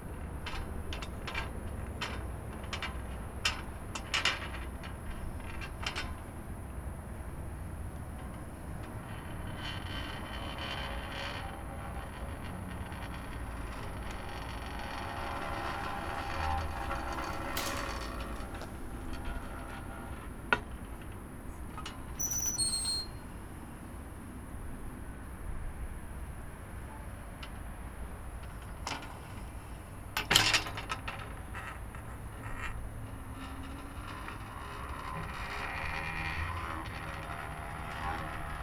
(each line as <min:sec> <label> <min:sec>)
0:13.3 operating the handle of a rusty, manual water pump 0:19.4